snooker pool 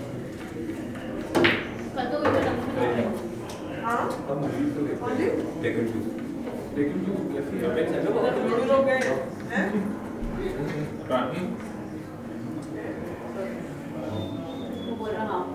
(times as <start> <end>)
0.2 3.7